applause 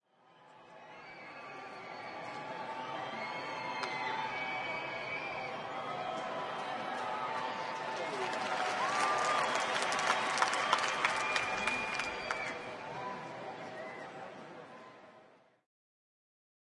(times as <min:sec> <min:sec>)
0:05.8 0:12.8